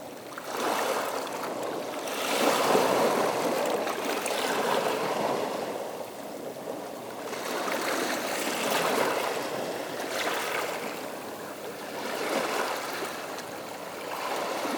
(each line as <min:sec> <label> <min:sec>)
0:00.0 The sea 0:14.7